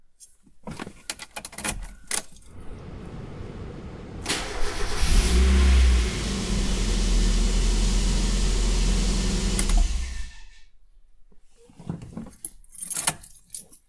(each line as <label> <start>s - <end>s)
Starting up and stopping the Engine 2.5s - 10.5s